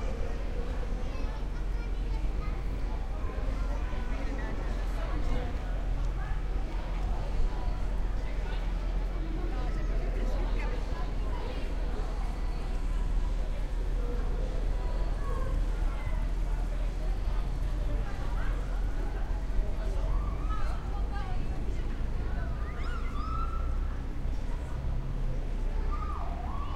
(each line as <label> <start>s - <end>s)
people 0.0s - 26.7s